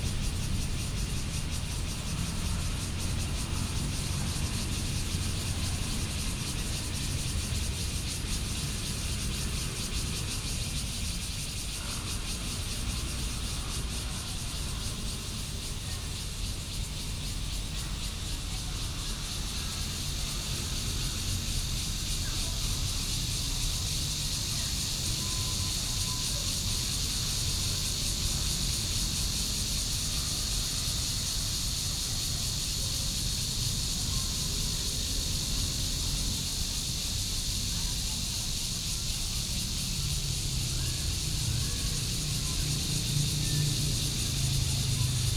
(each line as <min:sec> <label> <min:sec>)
0:00.0 Cicadas sound 0:45.3
0:16.8 Traffic Sound 0:45.3